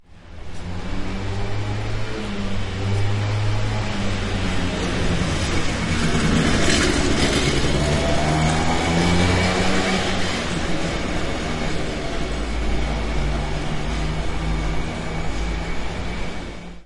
0.6s motorcycle passing 16.8s

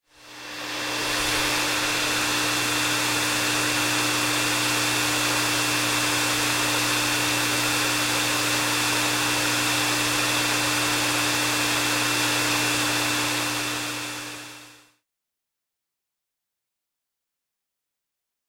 0.0s Hair dryer 15.0s

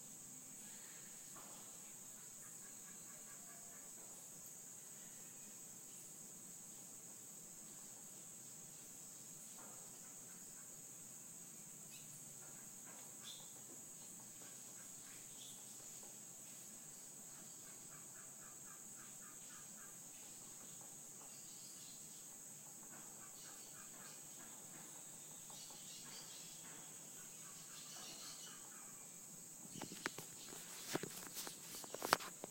0.0s insects buzzing 32.5s
10.2s birds chirping 32.2s

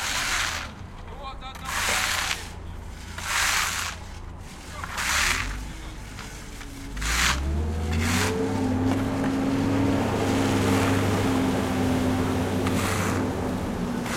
0.0s plodders works with shovels 14.1s

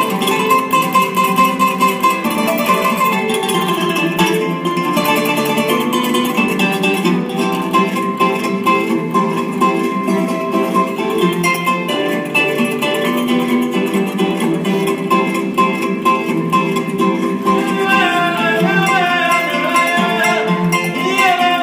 0.0s Kora 21.6s
17.2s vocals 21.6s

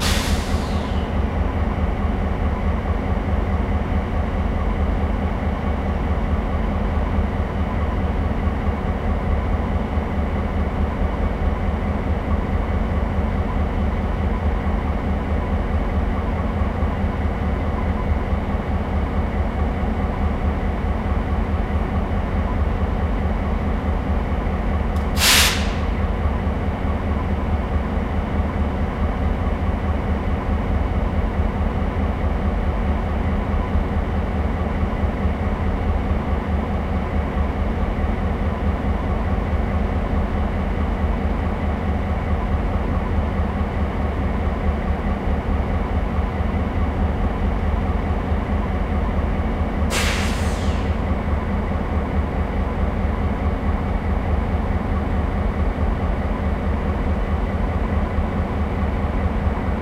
0.0s compressed air 0.9s
0.0s three linked diesel locomotives idling 59.8s
25.1s compressed air 25.9s
49.9s compressed air 50.9s

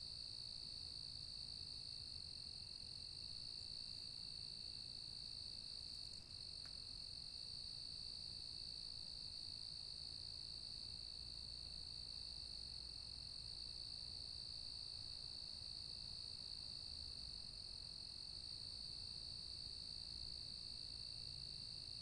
0.0s crickets 22.0s

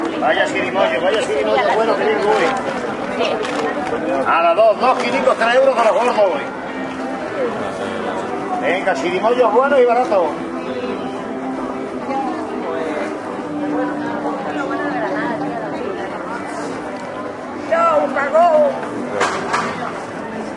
0.0s streetnoise 20.5s

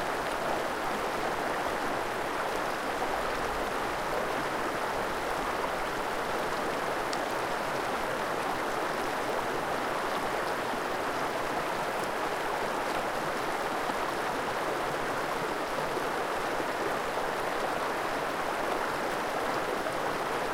0.0s Mountains river 20.5s

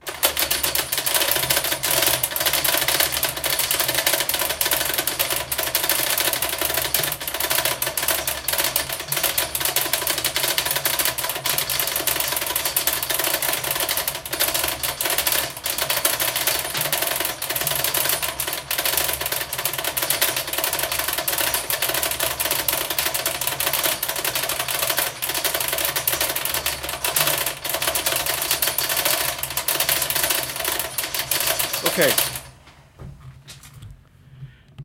27.8s Chains Reversed 32.5s
32.2s Stairway down sound 34.0s

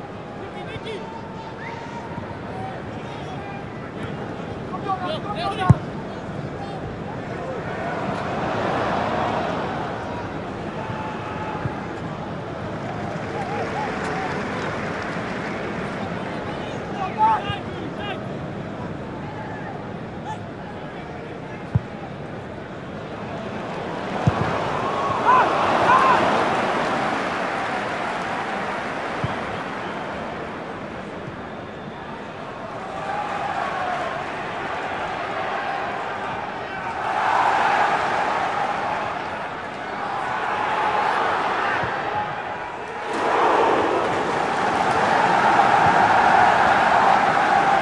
0.0s soccer/crowd noise 47.8s

